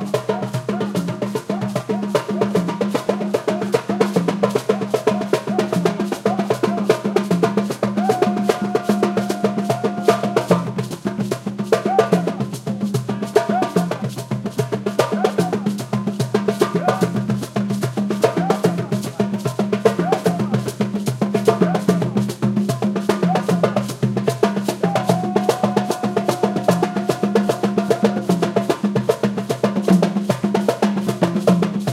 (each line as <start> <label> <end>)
0.0 African drum jam 31.9